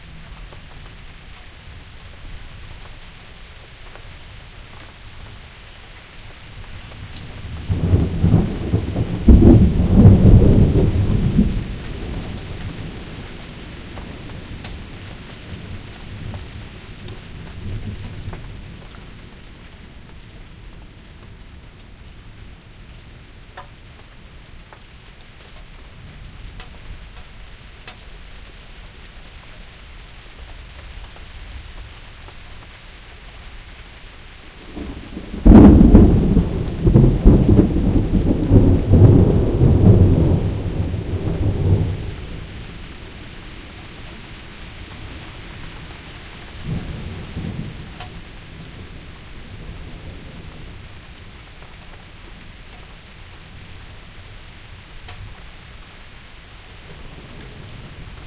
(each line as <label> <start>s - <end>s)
Rain 0.0s - 58.2s
Thunder 7.4s - 13.0s
Thunder 34.7s - 42.6s